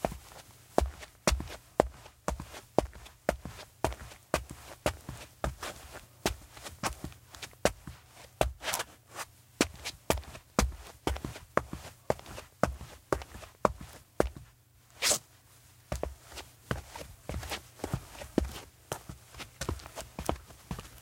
footstep concrete walking running scuff 0.0 - 15.2
footstep concrete walking running scuff 15.9 - 21.0

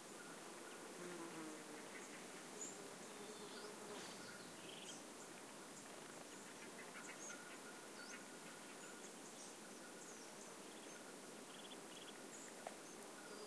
singing birds 1.9 - 5.8
singing birds 6.4 - 13.4
distant sheep bell 7.2 - 11.2

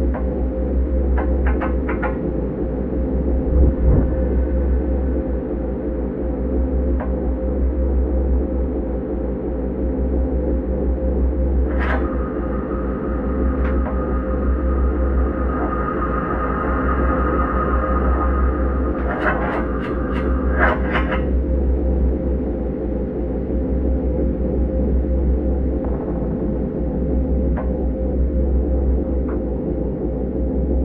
VST synthesizers 0.0 - 30.8

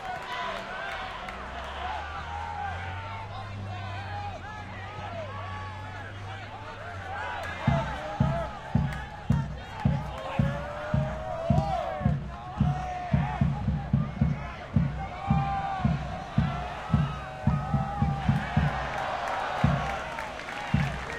roar of the crowd 0.0 - 21.1
players shouting to each other 0.0 - 21.1
drums 7.1 - 21.1

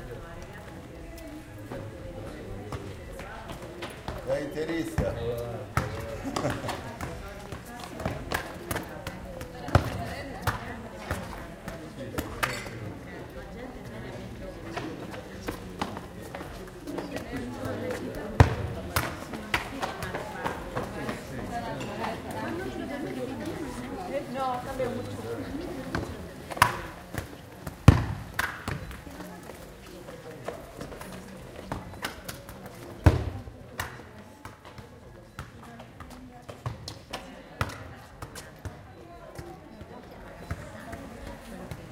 restaurant noises 0.0 - 41.9

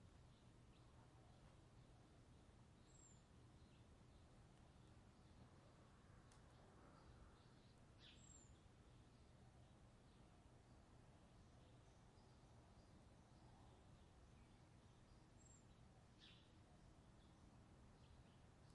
Birds 0.0 - 18.7

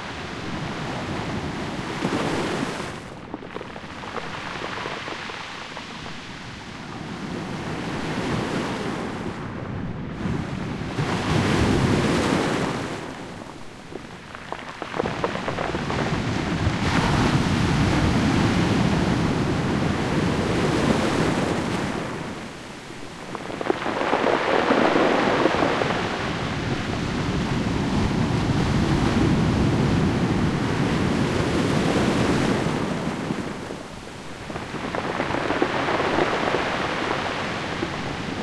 waves breaking on a pebble beach 0.0 - 9.5
waves breaking on a pebble beach 10.2 - 38.4
foamy backwash 10.5 - 38.4

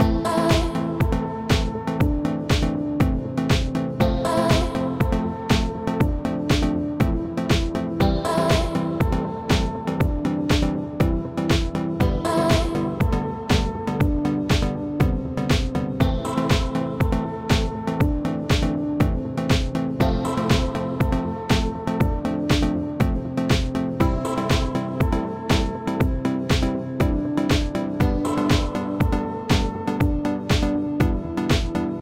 synth 0.0 - 32.0

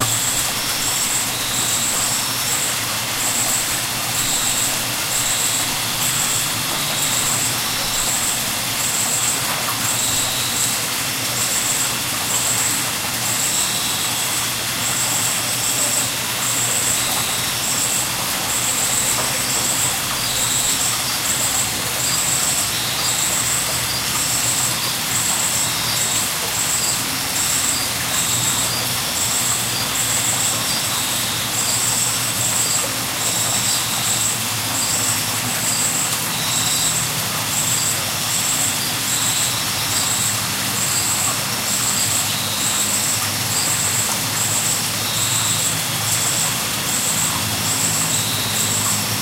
Insects 0.0 - 49.2
Waterfall Stream 0.0 - 49.2

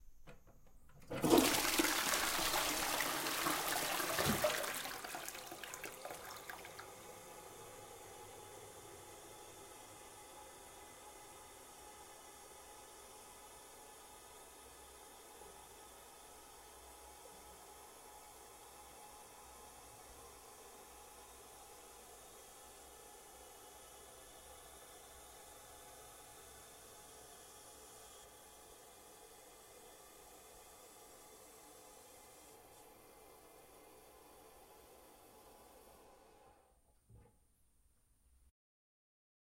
Toilet Flush Refill 0.9 - 17.6

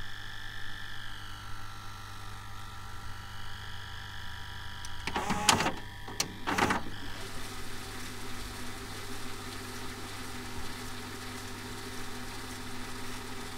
VHS player 4.8 - 9.6
rewinding 4.9 - 7.4

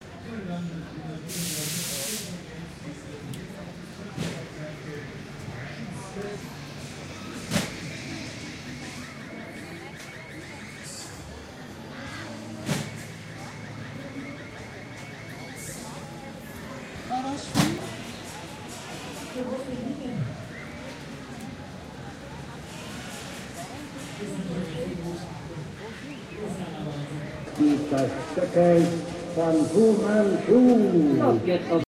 People talking and laughing 0.0 - 31.8
fun rides in the background 0.0 - 31.8

